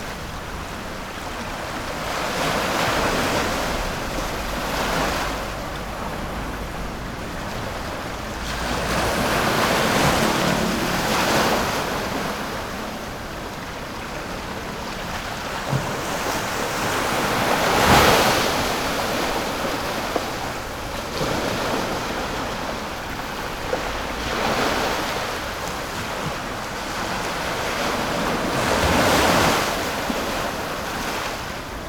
Tide 0:00.0 - 0:31.8

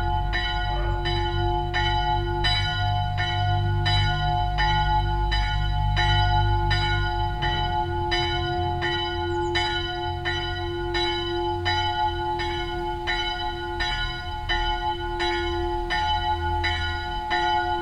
cars passing by on the stoney road 0:00.0 - 0:17.8
church bells 0:00.0 - 0:17.8

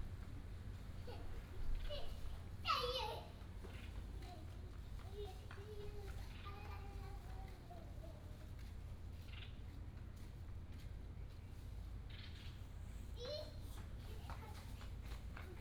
birds sound 0:03.6 - 0:04.3

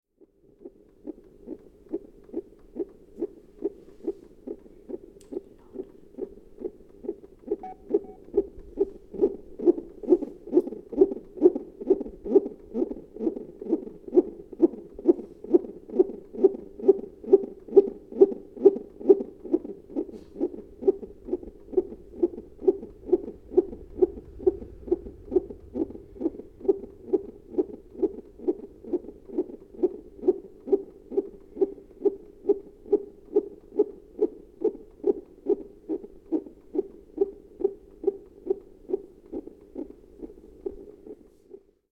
heartbeat before birth 0:00.1 - 0:41.9

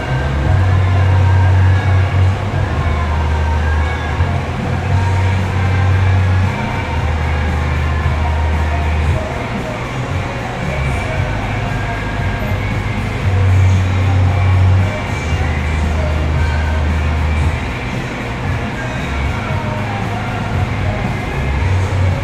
people walking in and out of the alley 0:00.0 - 0:22.2
streaming music 0:00.0 - 0:22.2

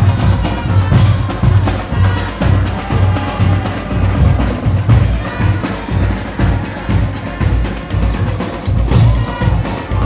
marching bands 0:00.0 - 0:10.0

